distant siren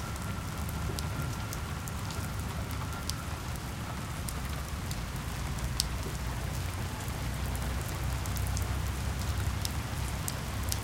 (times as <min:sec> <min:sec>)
0:00.0 0:05.4